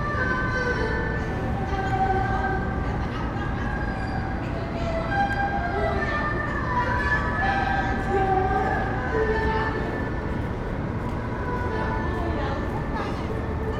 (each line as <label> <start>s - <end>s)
Chinese musician 0.0s - 13.7s